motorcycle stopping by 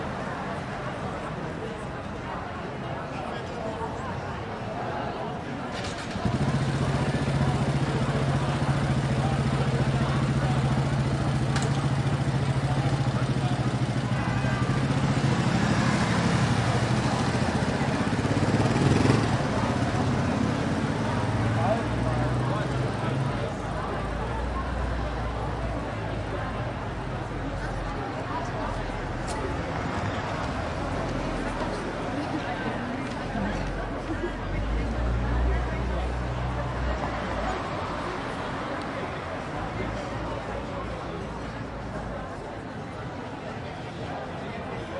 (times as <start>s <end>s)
5.7s 26.2s